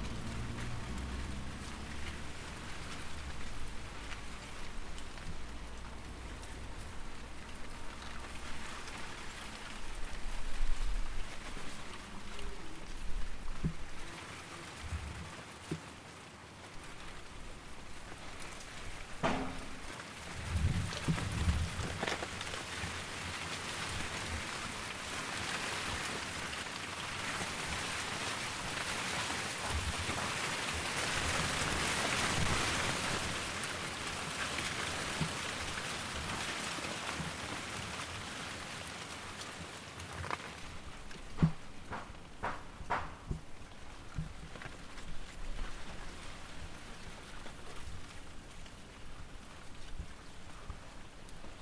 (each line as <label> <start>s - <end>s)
Feuilles de bananier dans le vent 0.0s - 15.9s